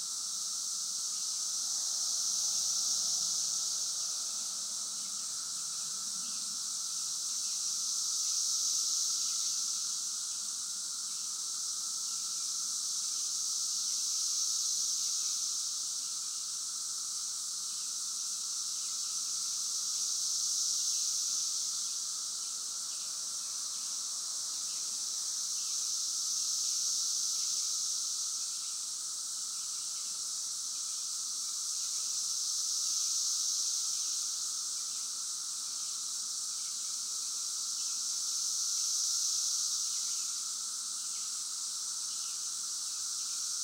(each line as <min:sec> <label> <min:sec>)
0:00.0 close group in a nearby tree 0:43.6
0:00.0 distant roar of the cicadas 0:43.6